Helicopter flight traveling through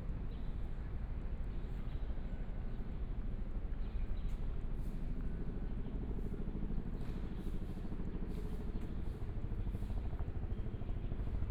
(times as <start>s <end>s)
4.6s 11.5s